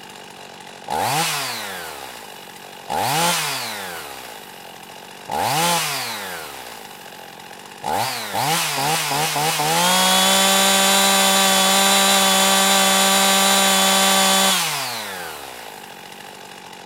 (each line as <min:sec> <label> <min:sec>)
0:00.0 Chainsaw - Idle with Revs 0:16.8
0:00.0 Pull starting a chainsaw 0:16.8